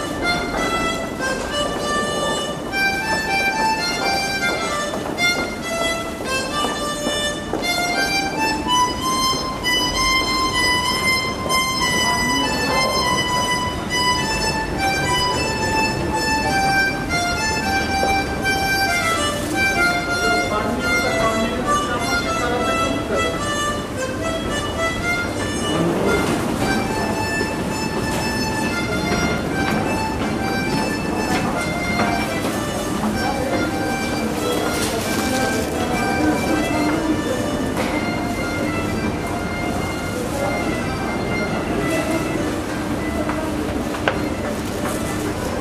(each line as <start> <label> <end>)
0.0 little girl is playing her harmonica 45.6